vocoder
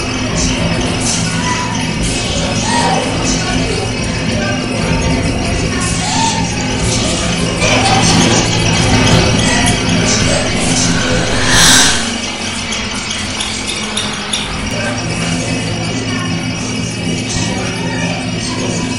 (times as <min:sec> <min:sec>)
0:06.0 0:12.8